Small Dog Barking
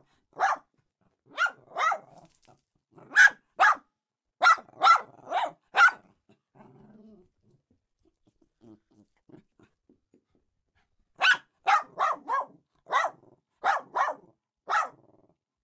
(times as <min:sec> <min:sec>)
0:00.4 0:00.7, 0:01.3 0:02.4, 0:03.0 0:06.1, 0:11.2 0:15.1